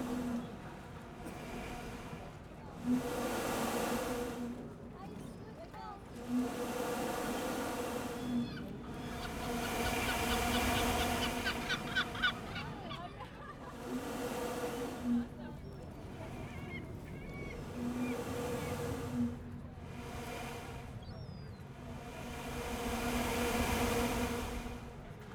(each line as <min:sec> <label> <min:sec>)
0:00.0 engine 0:11.5
0:00.0 Air pushed through a vent pipe by the waves 0:25.3
0:02.2 people chatting 0:03.2
0:04.9 people chatting 0:06.2
0:06.2 sea gulls 0:24.9
0:11.8 people chatting 0:13.8
0:15.0 people chatting 0:18.8